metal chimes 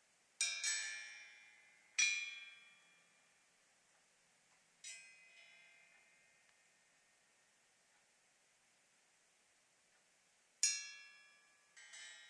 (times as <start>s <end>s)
0.4s 3.5s, 4.8s 7.0s, 10.6s 12.2s